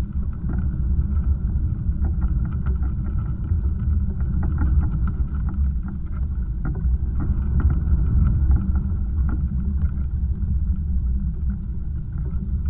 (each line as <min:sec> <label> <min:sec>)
0:00.0 contact microphone on a pile of sea debris 0:12.6